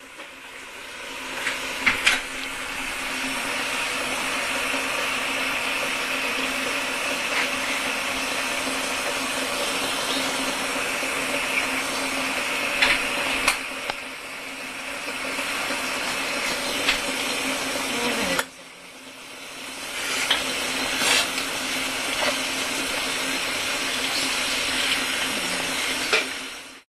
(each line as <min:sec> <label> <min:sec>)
0:00.0 boiling water 0:26.8